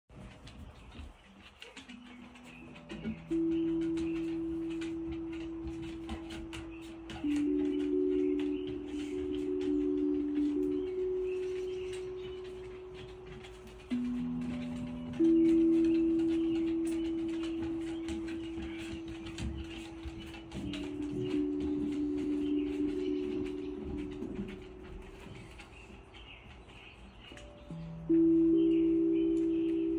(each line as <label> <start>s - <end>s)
tongue drum song 2.0s - 25.6s